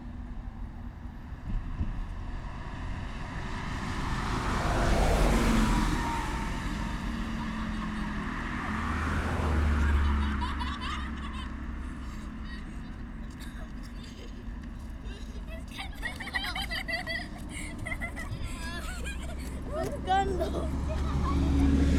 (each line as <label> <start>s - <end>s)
passers by 0.0s - 21.9s
traffic 0.0s - 21.9s